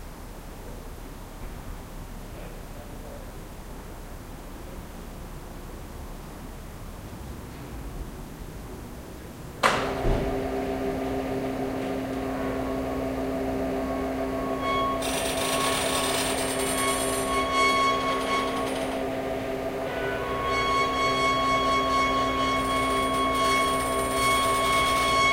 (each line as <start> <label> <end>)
9.6 windows and sunshades are connected to electric motors by chains 25.3